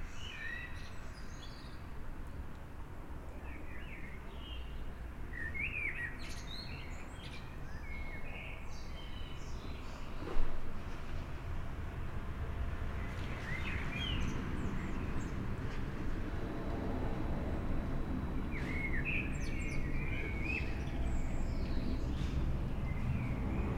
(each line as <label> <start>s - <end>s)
landing plane flyover 10.8s - 23.7s
birdsong 13.0s - 16.2s
birdsong 18.1s - 23.7s